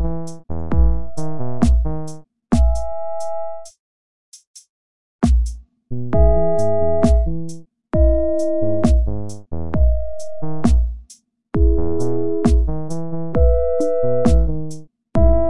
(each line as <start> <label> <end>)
0.0 synth 3.7
0.0 drum patterns 3.8
4.4 drum patterns 15.4
6.2 synth 9.3
11.6 synth 14.6
15.2 synth 15.4